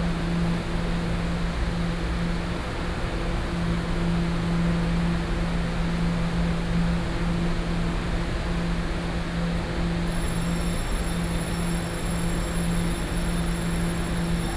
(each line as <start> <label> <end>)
10.1 Train traveling through 14.5